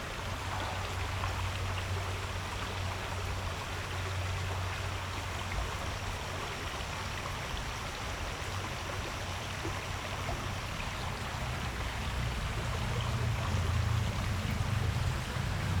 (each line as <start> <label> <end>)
0.0 water streams 15.8
11.4 Traffic Sound 15.8